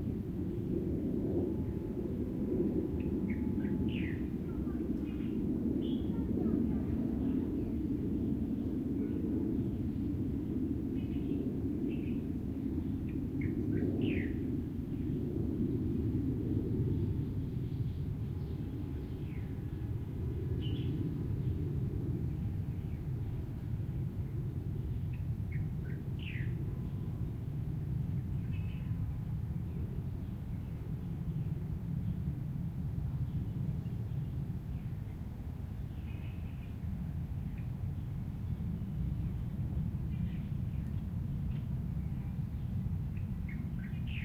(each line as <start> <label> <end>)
0.0 plane 44.2
11.0 birds 15.1
40.1 birds 44.2